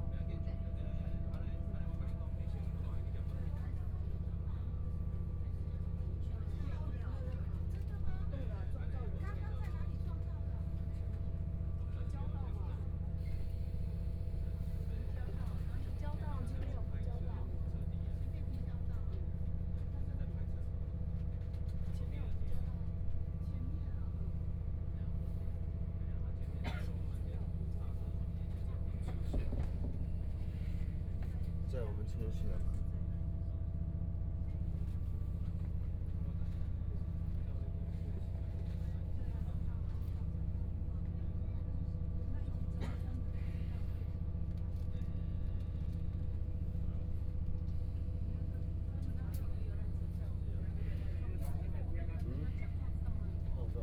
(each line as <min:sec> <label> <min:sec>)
0:00.0 dialogue between the passenger 0:53.8